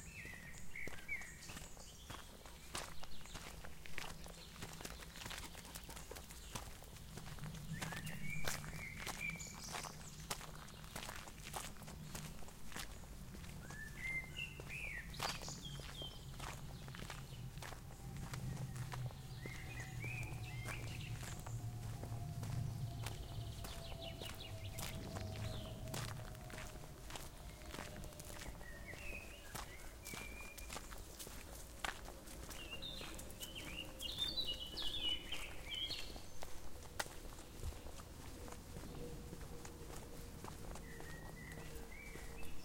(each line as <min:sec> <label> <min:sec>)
0:00.0 birds 0:42.6
0:00.2 footsteps 0:42.6
0:14.7 cars in distance 0:30.0